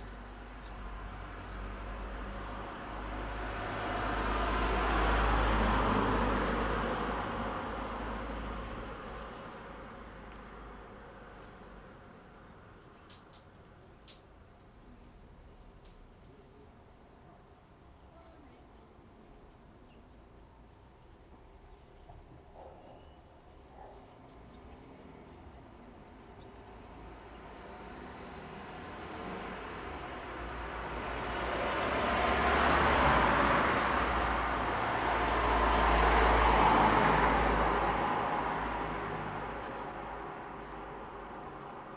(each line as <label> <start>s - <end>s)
Cars passing by 0.0s - 14.0s
Cars passing by 17.8s - 41.9s
dogs barking 22.5s - 24.2s
pedestrians walking 32.2s - 41.9s